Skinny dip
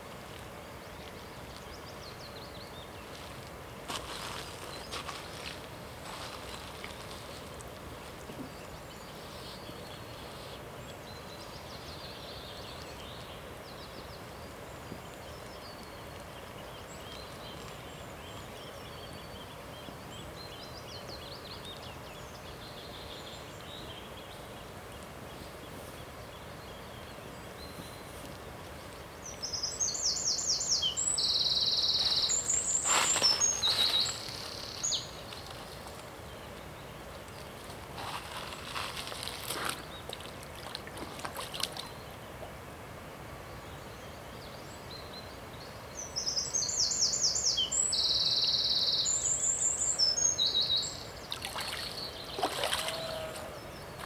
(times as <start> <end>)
37.4 41.9, 51.3 54.0